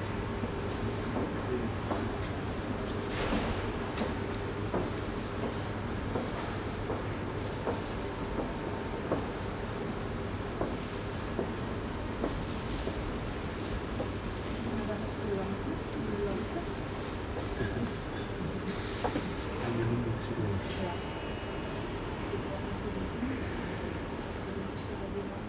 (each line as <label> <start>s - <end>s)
people talking and moving 12.2s - 25.4s